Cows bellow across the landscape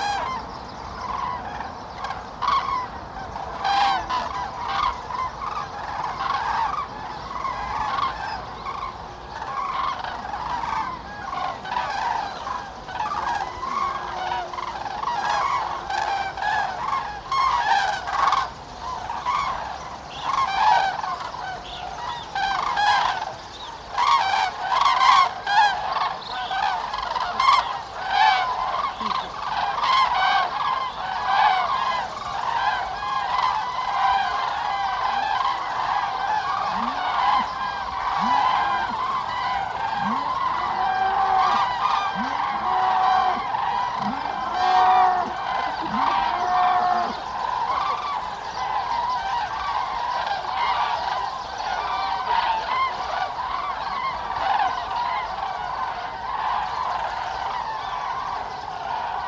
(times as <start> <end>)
31.8 49.0